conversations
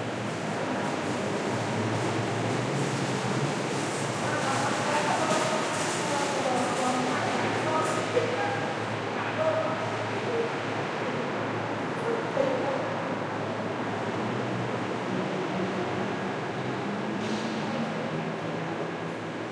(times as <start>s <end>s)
4.2s 13.3s